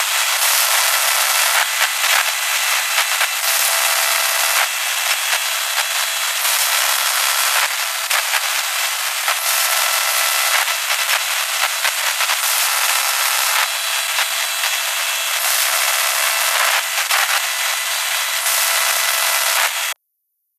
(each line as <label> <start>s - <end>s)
Static 0.0s - 20.0s
Crackle 0.1s - 20.0s